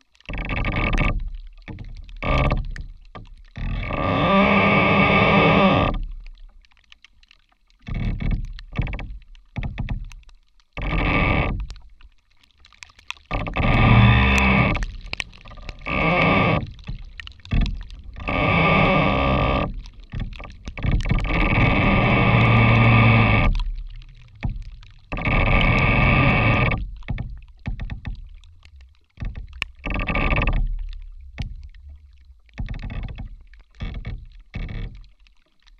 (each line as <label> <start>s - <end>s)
Creaking rotten tree 0.0s - 7.1s
slight rain is also heard falling on the tree's surface 0.0s - 35.7s
Creaking rotten tree 7.8s - 35.7s